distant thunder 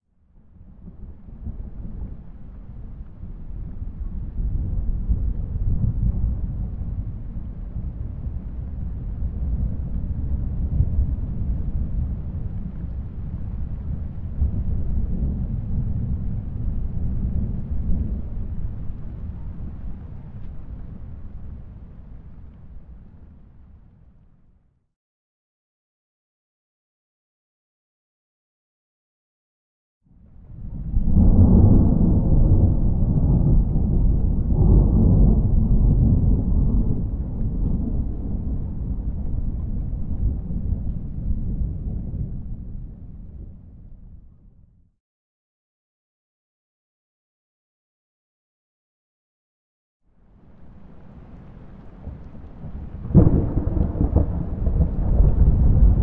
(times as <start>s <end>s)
30.5s 44.2s, 50.7s 56.0s